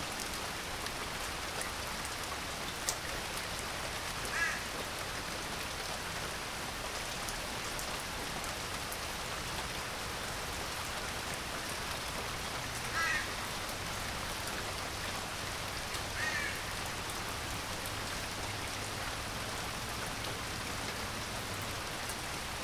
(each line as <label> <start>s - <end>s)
Rain hitting the dry gutters 0.0s - 22.6s